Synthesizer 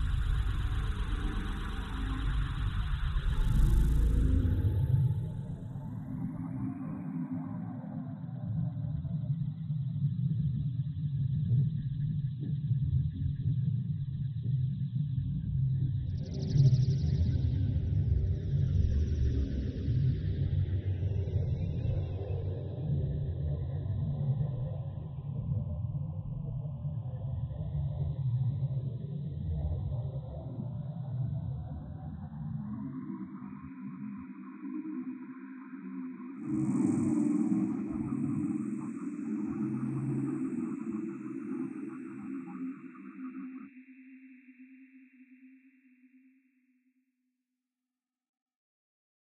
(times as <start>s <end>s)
0.0s 8.6s